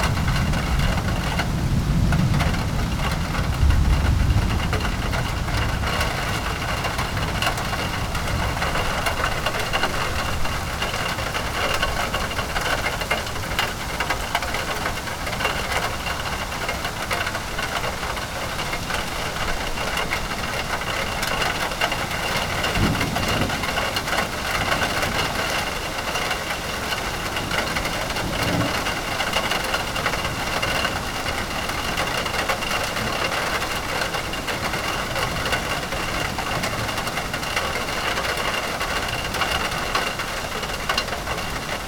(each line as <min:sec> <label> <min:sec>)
0:00.0 thunder 0:11.4
0:00.0 raindrops falling on a metal awning 0:41.8
0:22.5 thunder 0:25.7
0:27.6 thunder 0:31.2